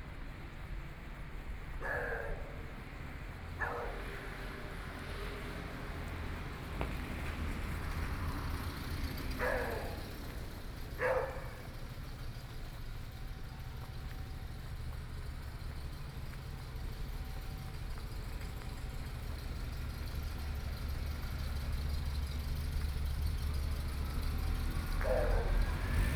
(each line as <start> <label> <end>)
0.0 Traffic Sound 26.1
1.6 Dogs barking 6.1
8.2 Dogs barking 12.8
24.2 Dogs barking 26.1